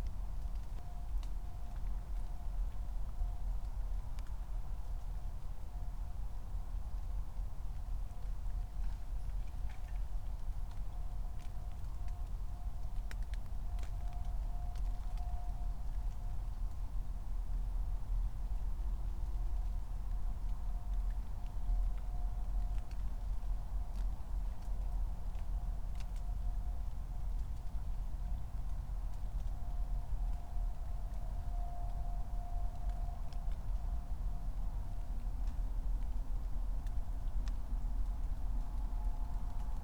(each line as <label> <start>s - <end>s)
S-Bahn trains 26.9s - 35.9s